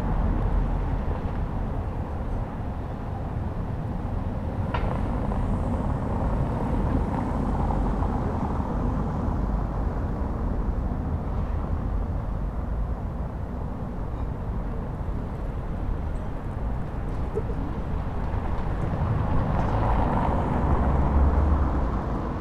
0.0s cars passing on the cobbled road 22.4s

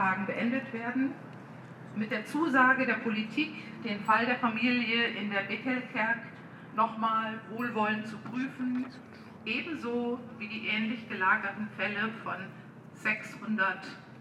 0.0s small demonstration in the street 14.2s

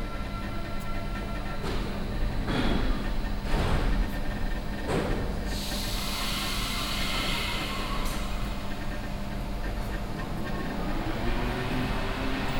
0.0s arrival of a train 12.5s

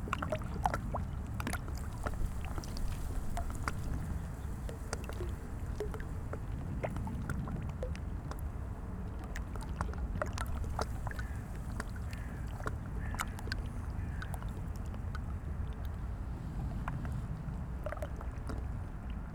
0.0s river 19.3s

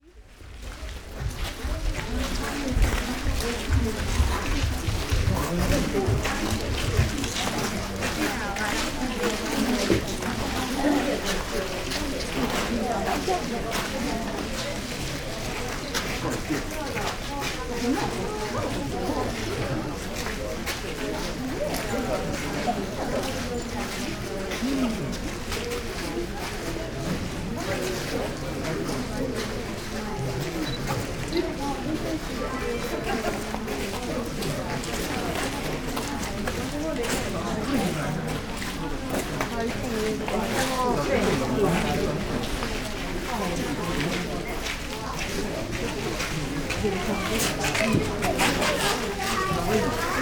0.5s steps on sand and wooden foors 16.1s

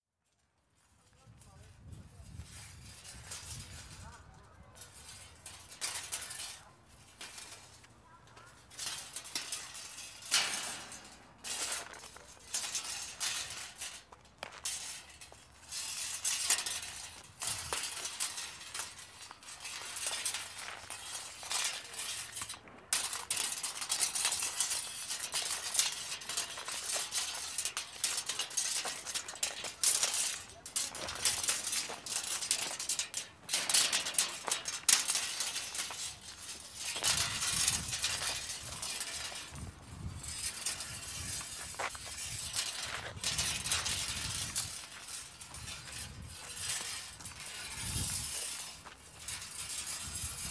8.6s steel tape 50.5s

